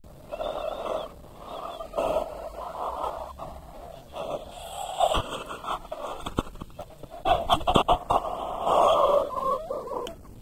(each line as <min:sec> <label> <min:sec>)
0:00.2 scary breath 0:06.4
0:07.1 scary breath 0:10.0